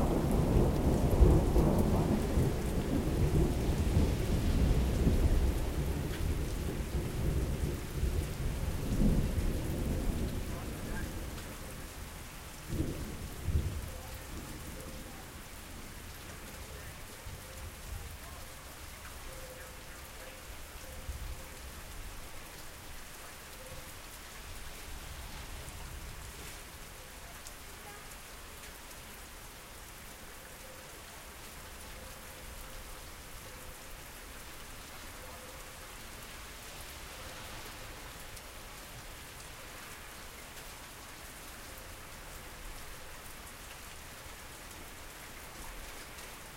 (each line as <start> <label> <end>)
0.0 Rain falling on streets 46.5